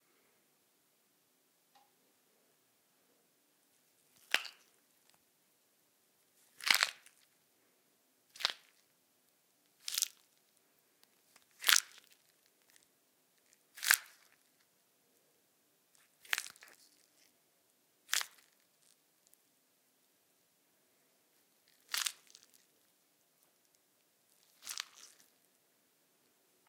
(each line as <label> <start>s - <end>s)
bones breaking 4.2s - 4.7s
bones breaking 6.6s - 7.2s
bones breaking 16.3s - 16.8s
bones breaking 18.1s - 18.6s
bones breaking 24.6s - 25.3s